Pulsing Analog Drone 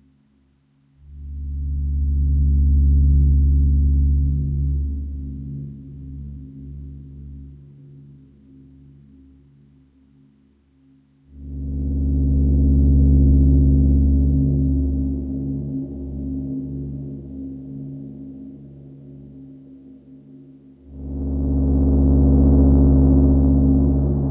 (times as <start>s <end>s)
1.1s 8.2s, 11.4s 19.6s, 20.8s 24.3s